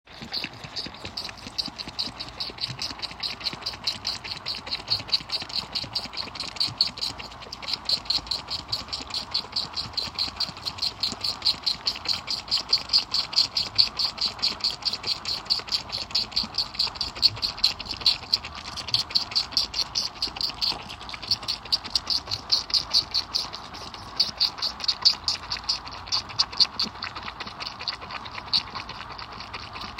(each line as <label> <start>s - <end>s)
sheep sucking bottle 0.1s - 29.9s